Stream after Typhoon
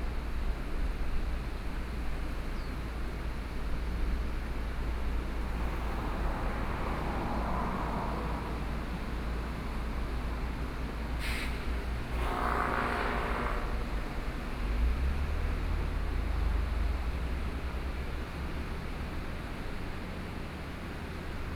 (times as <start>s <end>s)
5.2s 12.7s